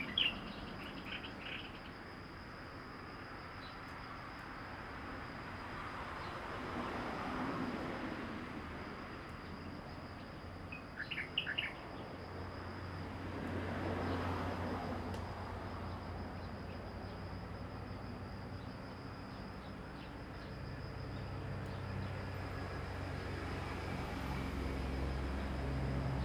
Birdsong 0:00.0 - 0:01.9
Traffic Sound 0:04.9 - 0:26.2
Birdsong 0:11.0 - 0:11.8

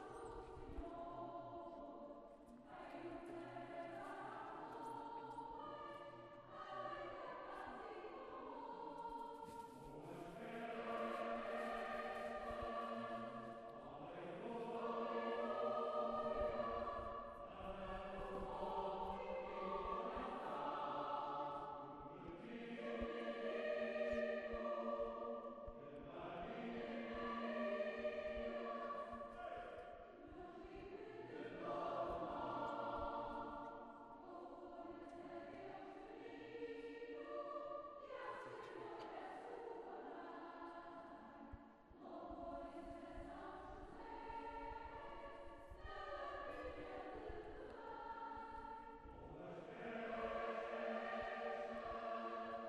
choir concert 0:00.0 - 0:52.6

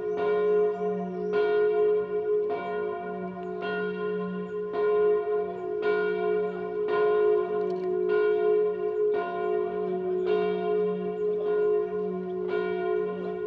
Bell from the Cathedral 0:00.0 - 0:13.4

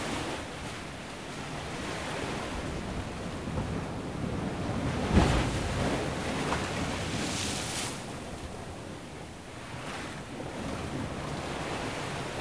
Waves impact against rocks 0:03.5 - 0:08.7

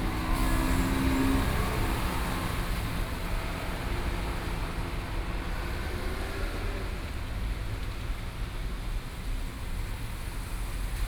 Railroad crossing 0:00.0 - 0:04.8

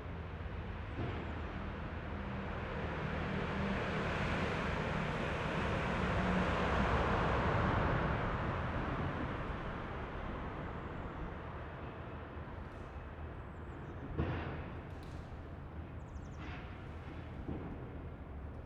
trains 0:00.0 - 0:18.6

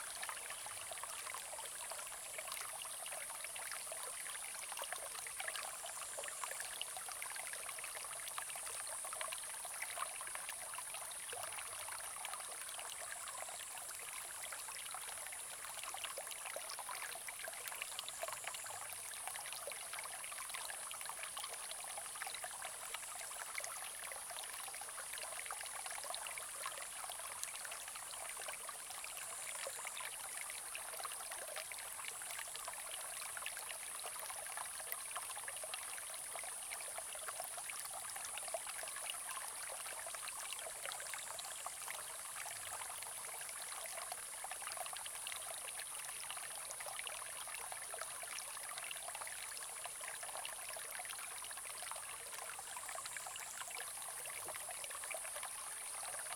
Small streams 0:00.0 - 0:56.3

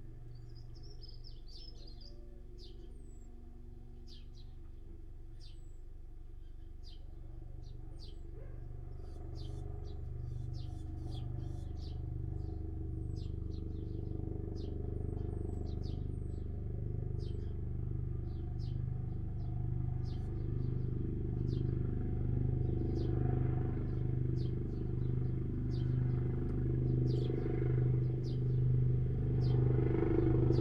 helicopter fly past 0:00.0 - 0:30.6
house sparrow 0:00.4 - 0:03.2
house sparrow 0:07.6 - 0:12.4

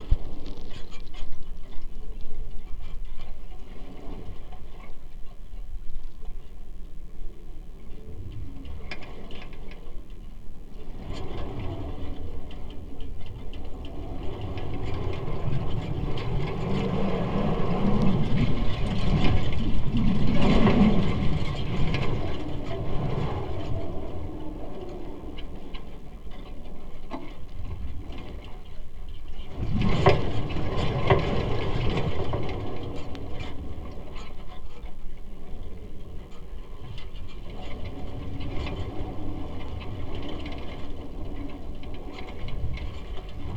Wire Fence in the Wind 0:00.0 - 0:43.5

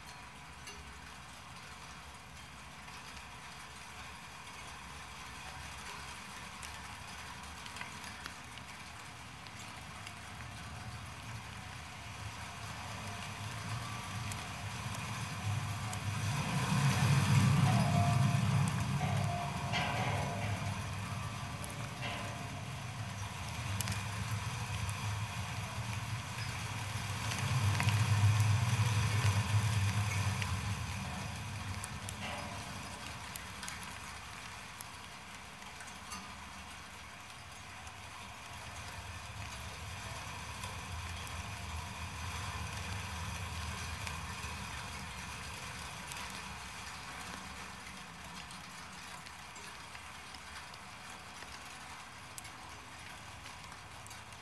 Snow on a wire construction fence 0:00.0 - 0:54.4

